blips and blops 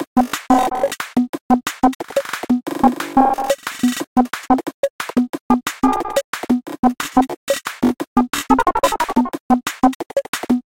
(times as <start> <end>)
8.5 9.3